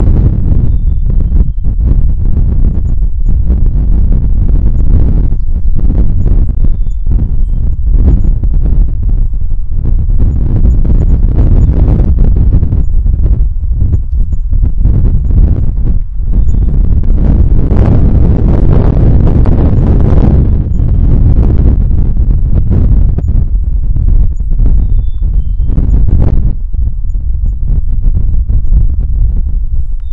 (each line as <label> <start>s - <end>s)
wind distortion 0.0s - 30.1s
birds 0.7s - 1.7s
birds 5.3s - 8.4s
birds 16.0s - 16.9s
birds 24.7s - 26.1s
birds 29.9s - 30.1s